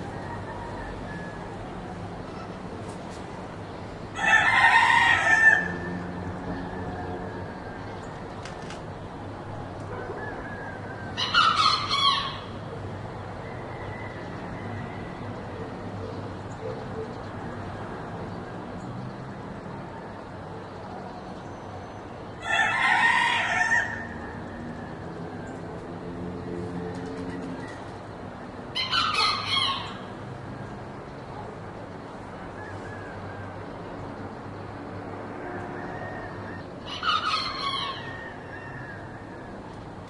Soft traffic noise 0:00.0 - 0:40.0
Two roosters crowing 0:00.0 - 0:01.7
Two roosters crowing 0:04.2 - 0:08.0
Two roosters crowing 0:10.1 - 0:12.6
Two roosters crowing 0:22.4 - 0:25.5
Two roosters crowing 0:28.7 - 0:30.2
Two roosters crowing 0:35.4 - 0:39.8

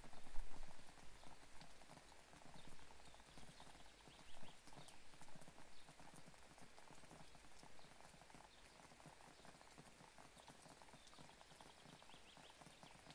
rain 0:00.0 - 0:13.1

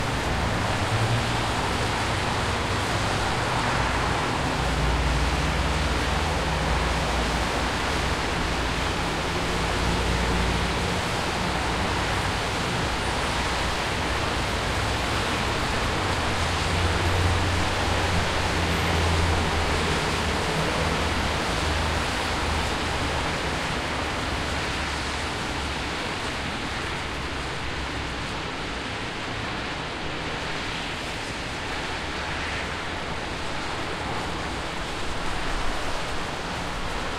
cars on the street after rain 0:00.0 - 0:37.1
small rain is falling 0:00.0 - 0:37.1

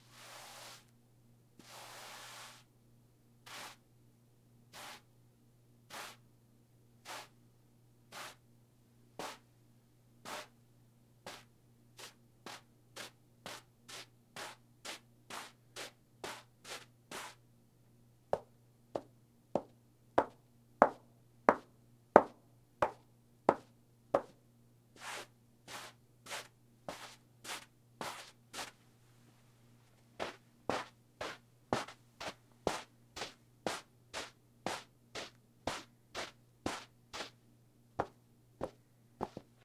Rubbing two pieces of carpet together 0:00.0 - 0:00.9
Rubbing two pieces of carpet together 0:01.6 - 0:02.7
Rubbing two pieces of carpet together 0:03.5 - 0:03.8
Rubbing two pieces of carpet together 0:04.7 - 0:05.0
Rubbing two pieces of carpet together 0:05.9 - 0:06.2
Rubbing two pieces of carpet together 0:07.0 - 0:07.3
Rubbing two pieces of carpet together 0:08.1 - 0:08.4
Rubbing two pieces of carpet together 0:09.2 - 0:09.4
Rubbing two pieces of carpet together 0:25.0 - 0:28.8
Rubbing two pieces of carpet together 0:30.2 - 0:37.4
Rubbing two pieces of carpet together 0:38.0 - 0:39.5

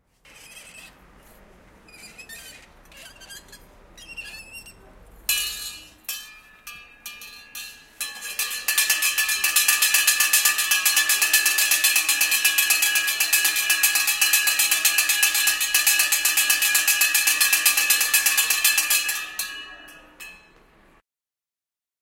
school bell 0:05.3 - 0:20.7

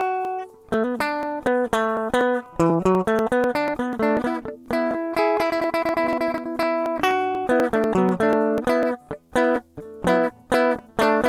playing the guitar 0:00.0 - 0:11.2

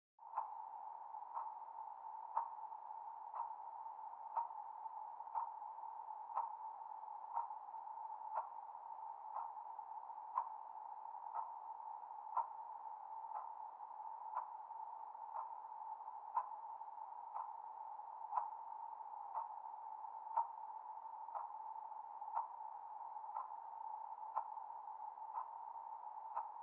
ticking clock 0:00.2 - 0:26.6

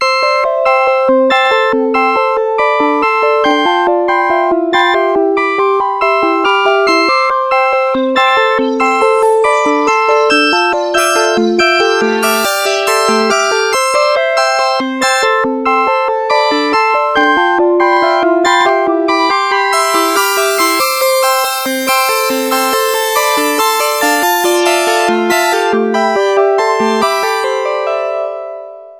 bass 0:01.2 - 0:27.5
bleep 0:06.6 - 0:27.5

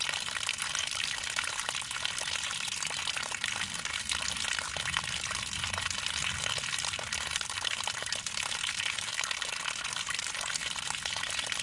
water from a hose falls to the ground 0:00.0 - 0:11.6

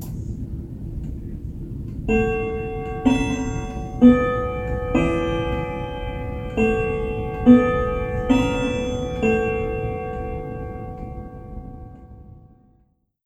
grandfather clock's half hour chime 0:01.6 - 0:13.2

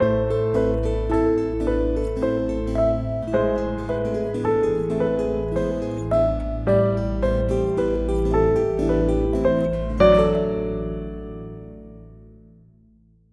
2 guitars 0:00.0 - 0:12.0
synth 0:00.0 - 0:12.9
piano 0:00.0 - 0:13.3

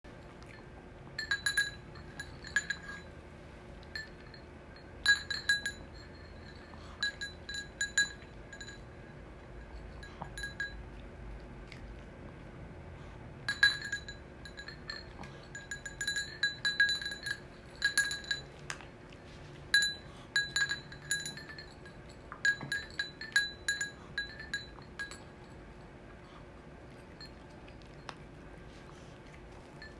Two dogs eating out of porcelain bowls 0:00.1 - 0:29.9
Clanging and clattering of their dog tags 0:01.2 - 0:03.1
Clanging and clattering of their dog tags 0:13.5 - 0:18.8
Clanging and clattering of their dog tags 0:19.7 - 0:25.6

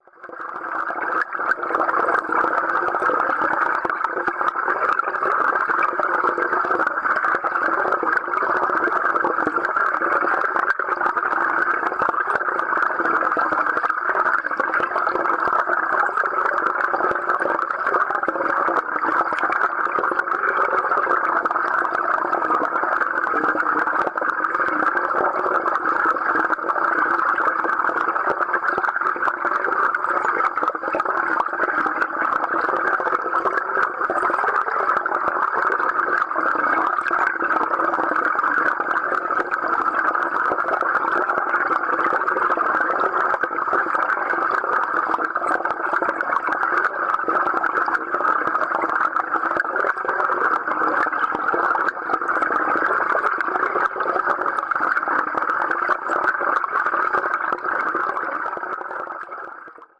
Fountains 0:00.0 - 0:59.9

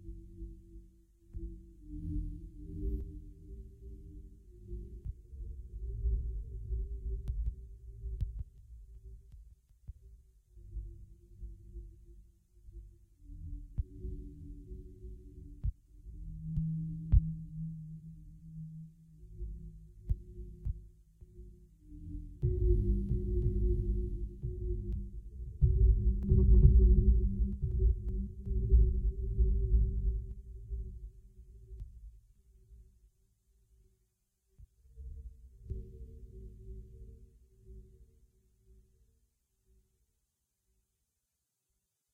bass 0:00.0 - 0:33.0

